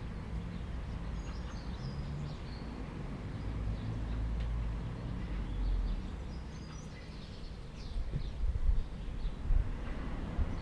birds 0.0 - 10.6
vehicles driving around the park 0.0 - 10.6

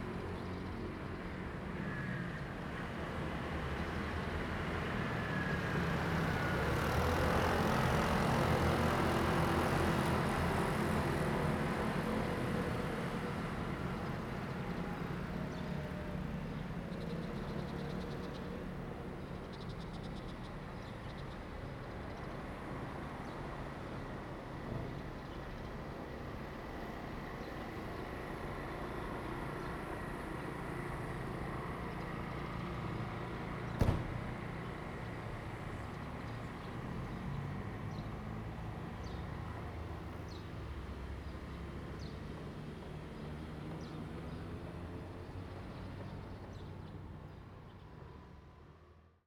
Traffic Sound 29.4 - 39.6

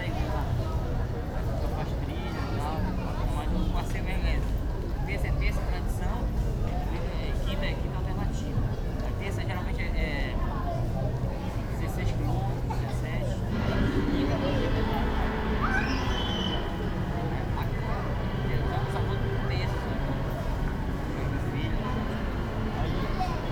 various distant musics 0.0 - 23.5
distant cars 13.4 - 23.5
playing children 13.4 - 23.5
people walking, speaking, shouting 13.5 - 21.2
church bells 13.5 - 23.5

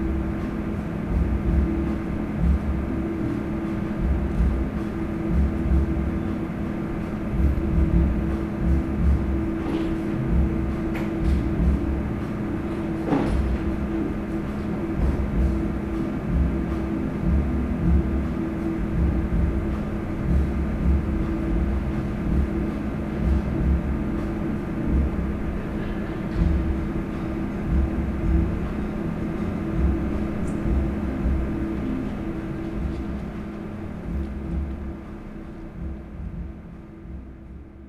antenna transformer station 0.0 - 37.8

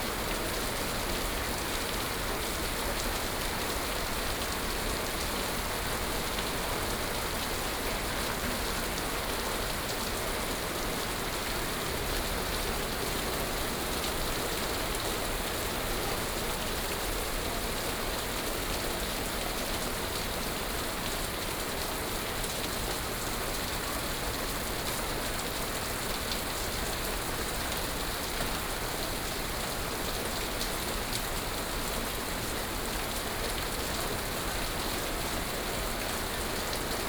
Heavy rain 0.0 - 37.0

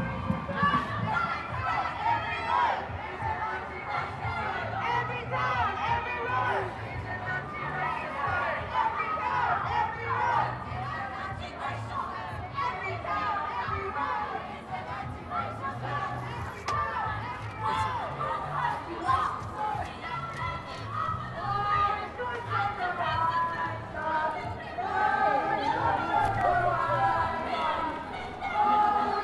March Against Racism 0.0 - 29.2

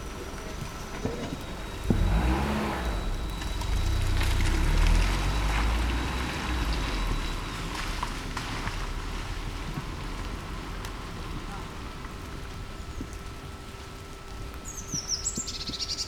rain drops sliding from leaves 0.0 - 16.0
bird calls 14.7 - 16.0

